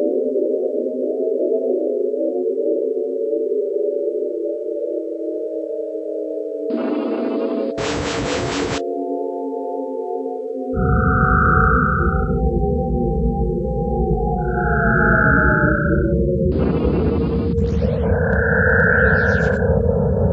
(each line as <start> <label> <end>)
6.7 space noises 8.8
10.8 space noises 13.4
14.4 space noises 20.3